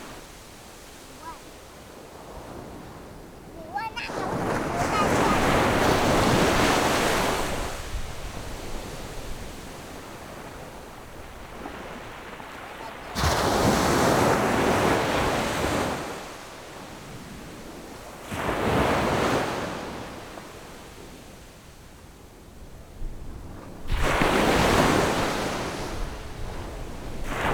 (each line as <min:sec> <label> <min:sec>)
0:00.0 waves 0:27.5
0:03.3 Windy 0:07.7
0:12.0 Windy 0:13.7